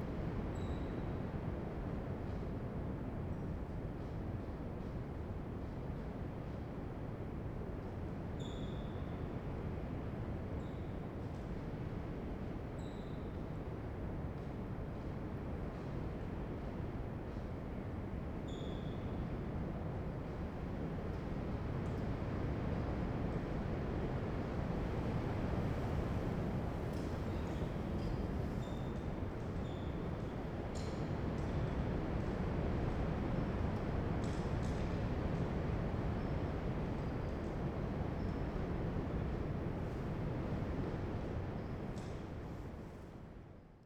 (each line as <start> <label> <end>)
0.0 wind 43.8